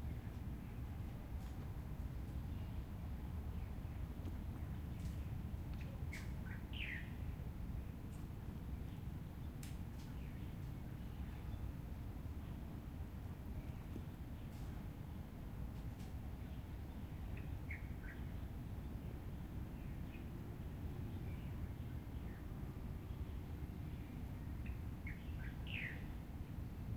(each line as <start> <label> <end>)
0.0 plane 26.9
2.5 birds 7.2
21.1 birds 26.3